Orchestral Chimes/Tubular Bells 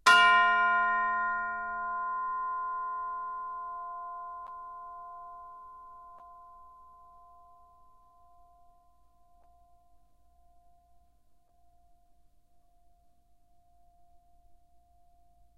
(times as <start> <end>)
0.1 6.2